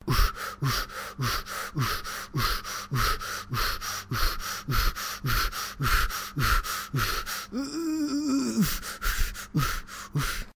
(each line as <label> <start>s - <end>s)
gasp 0.0s - 10.5s
Fast breathing, struggle male 0.0s - 10.5s